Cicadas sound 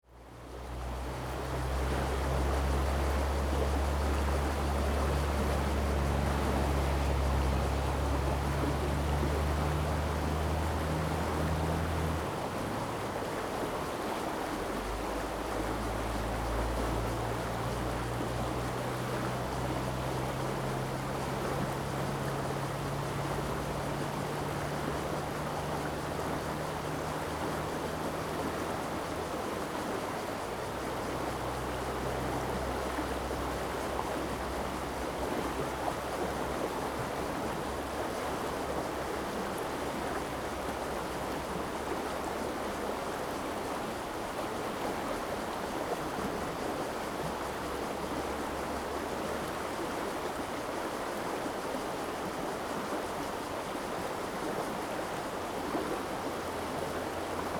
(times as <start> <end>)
14.8 57.5